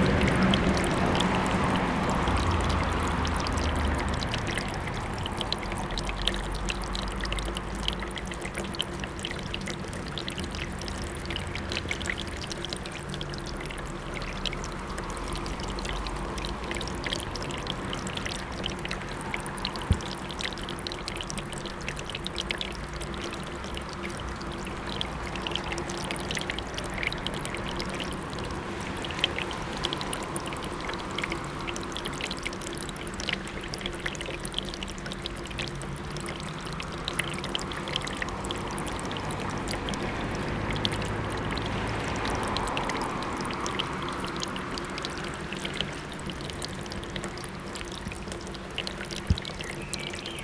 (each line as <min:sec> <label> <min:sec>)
0:00.0 Downpour residue dripping from the roof into the gutters 0:50.4